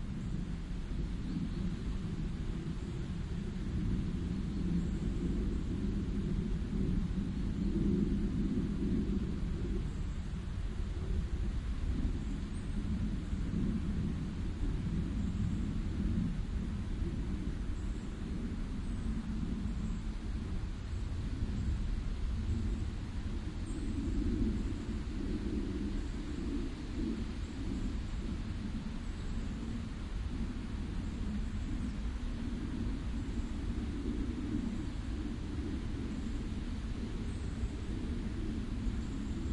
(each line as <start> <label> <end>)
0.0 winds are rustling the leaves 39.5
0.0 birds 39.5